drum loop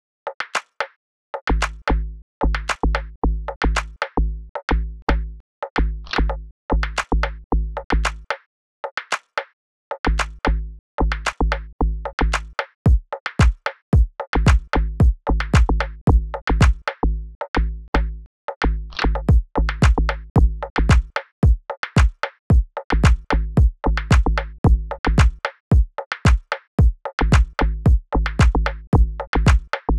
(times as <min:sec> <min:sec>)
0:12.9 0:15.8, 0:19.3 0:29.7